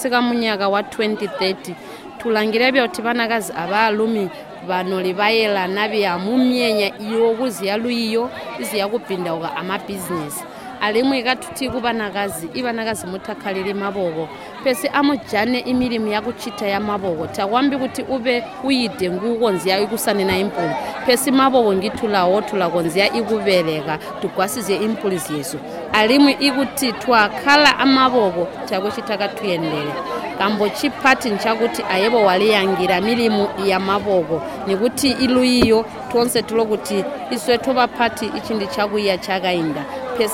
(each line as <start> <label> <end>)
33.7 statement 36.9